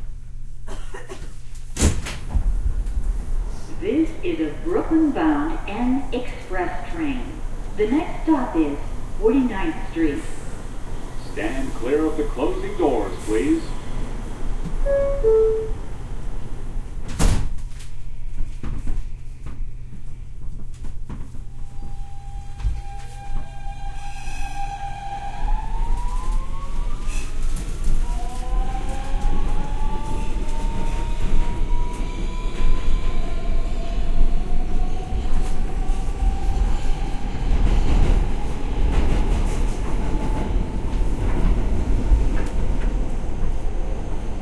2.8s N train as it travels 17.1s
17.8s N train as it travels 44.4s

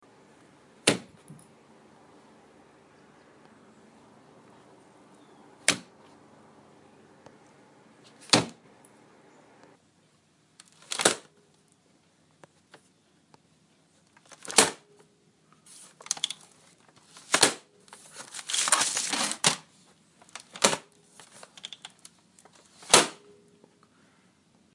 0.8s closing a laptop computer 1.3s
5.6s closing a laptop computer 5.9s
8.1s closing a laptop computer 8.6s
10.7s closing a laptop computer 11.3s
14.2s closing a laptop computer 14.8s
15.9s closing a laptop computer 19.7s
20.4s closing a laptop computer 23.2s

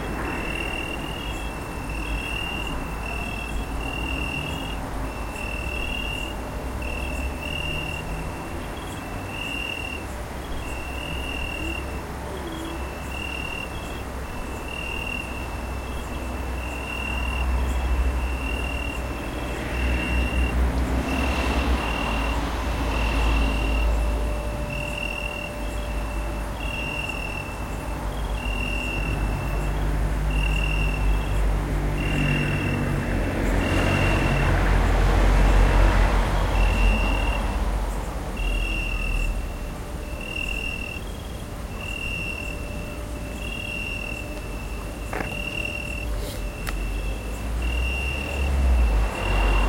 0.0s Crickets 49.6s

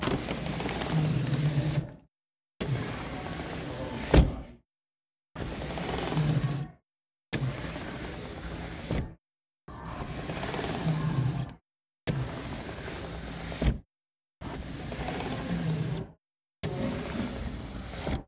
0.0s double-hung window sliding open and closed 2.0s
2.6s double-hung window sliding open and closed 4.5s
5.4s double-hung window sliding open and closed 6.6s
7.4s double-hung window sliding open and closed 9.1s
9.8s double-hung window sliding open and closed 11.6s
12.2s double-hung window sliding open and closed 13.7s
14.5s double-hung window sliding open and closed 16.1s
16.7s double-hung window sliding open and closed 18.2s

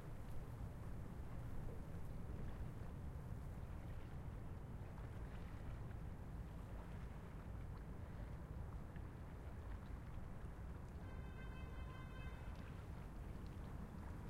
0.0s reed in the wind 14.2s
0.0s water 14.2s

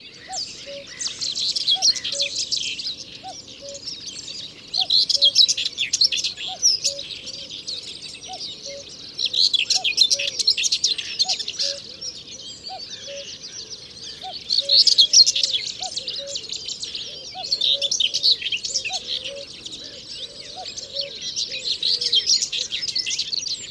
0.0s Common Cuckoo 23.7s
0.2s Common Whitethroat 23.1s

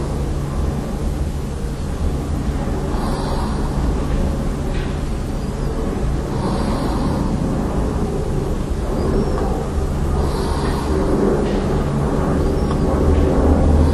0.0s Airplane 13.9s

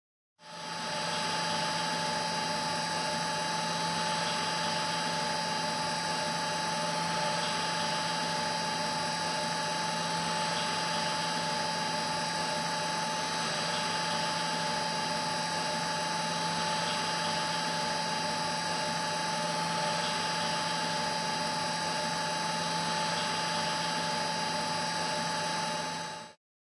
0.4s continuos mechanical whirring coming from industrial boilers 26.4s

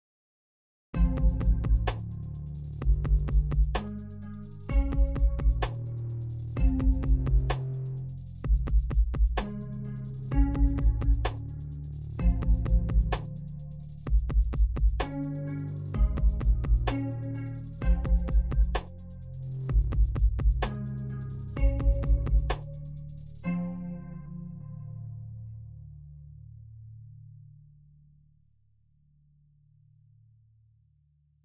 1.0s music 28.3s

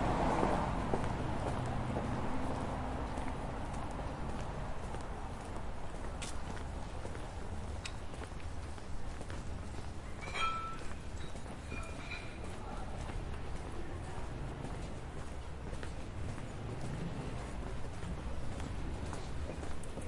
0.0s traffic 20.0s
0.0s walking 20.0s

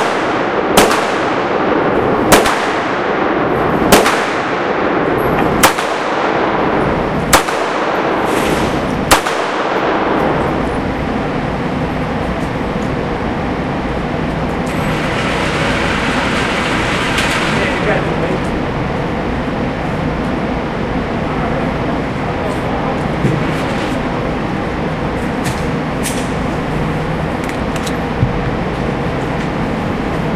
0.0s shots 10.6s

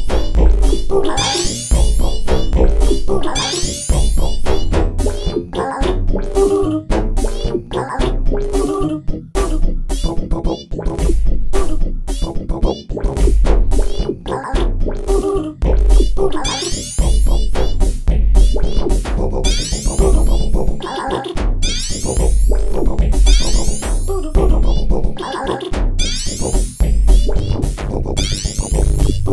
0.0s Drum Beat 8.7s
9.4s Drum Beat 10.2s
11.0s Drum Beat 12.4s
13.1s Drum Beat 20.8s
22.2s Drum Beat 29.3s

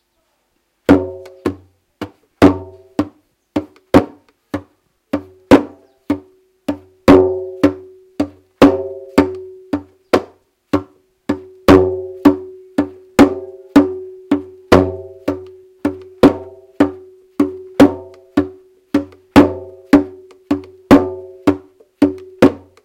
0.9s Drums percussions 22.8s

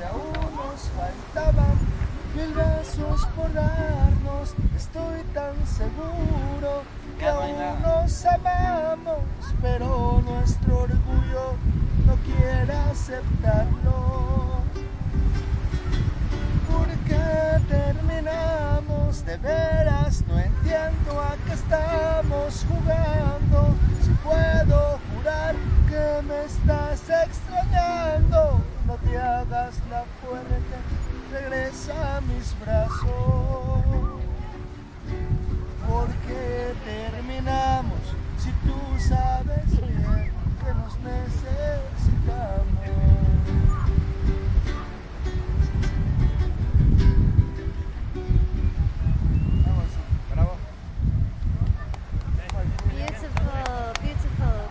0.0s man sings traditional song 48.2s
0.0s guitar 50.0s
52.6s man sings traditional song 54.7s

